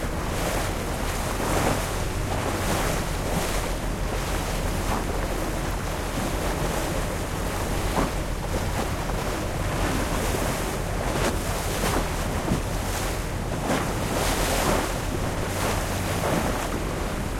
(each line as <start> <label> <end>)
0.0 shuttle boat 17.3
0.0 waves 17.3